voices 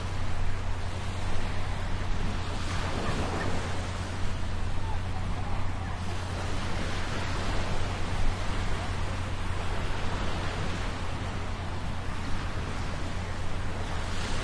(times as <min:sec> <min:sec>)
0:02.7 0:09.8